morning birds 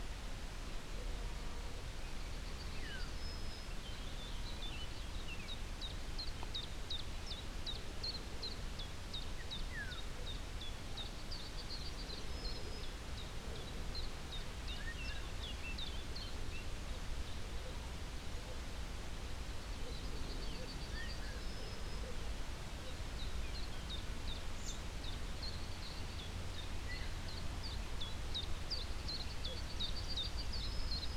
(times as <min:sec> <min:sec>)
0:02.1 0:18.6